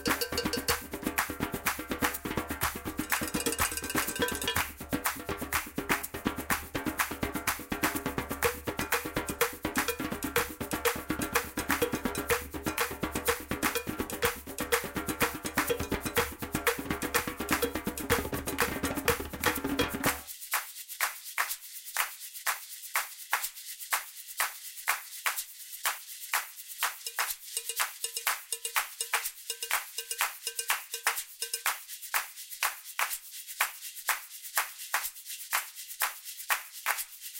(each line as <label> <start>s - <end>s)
cowbell 0.0s - 20.3s
djembe 0.0s - 20.3s
shekere 0.0s - 23.8s
shaker 0.0s - 37.3s
shekere 24.4s - 37.3s
cowbell 26.8s - 32.4s
djembe 27.1s - 31.7s